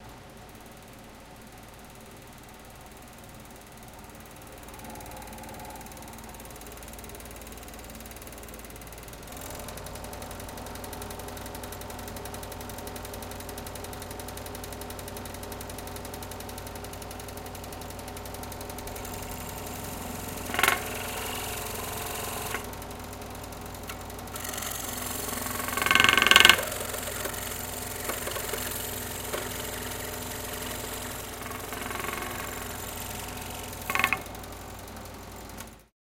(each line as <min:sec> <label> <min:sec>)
0:18.6 jigsaw 0:34.5